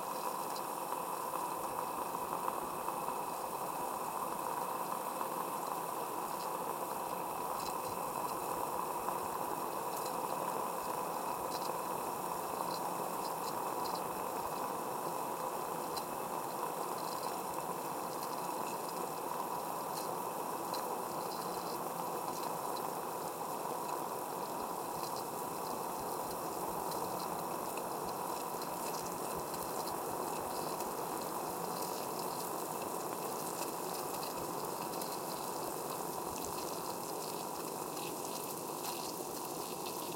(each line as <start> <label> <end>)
0.0 water boiling 40.1
23.7 pouring 40.1